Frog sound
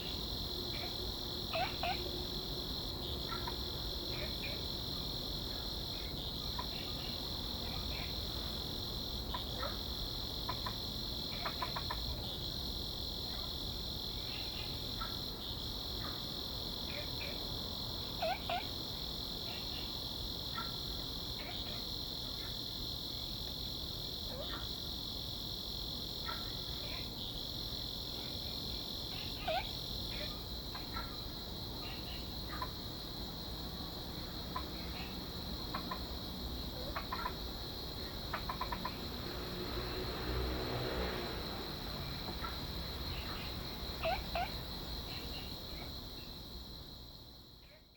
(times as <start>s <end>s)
0.7s 2.1s, 10.4s 12.4s, 18.1s 18.8s, 29.1s 32.8s, 34.2s 46.3s